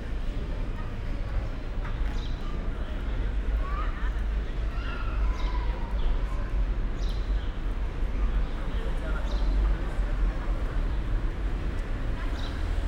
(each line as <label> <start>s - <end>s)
tourists 0.0s - 12.8s
cars 6.7s - 12.8s